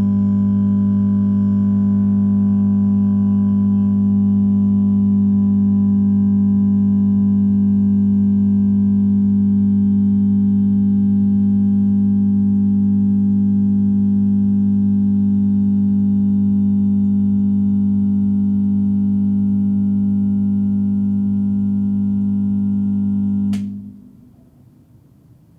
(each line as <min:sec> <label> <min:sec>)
0:00.0 fluorescent light bulb, warehouse style, switching on and warming up 0:25.5